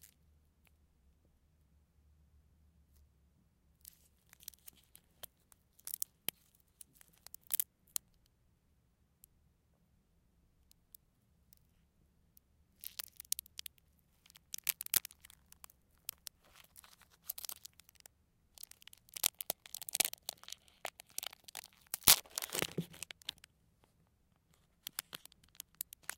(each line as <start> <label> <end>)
3.8 candy wrapper 8.1
12.8 candy wrapper 23.5
24.5 candy wrapper 26.1